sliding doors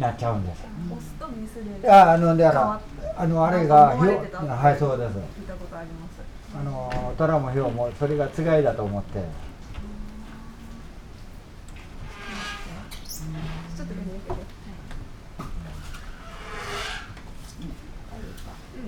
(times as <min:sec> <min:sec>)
0:06.9 0:17.7